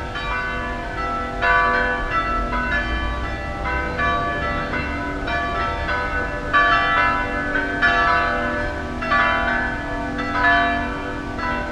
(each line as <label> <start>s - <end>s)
bells 0.0s - 11.7s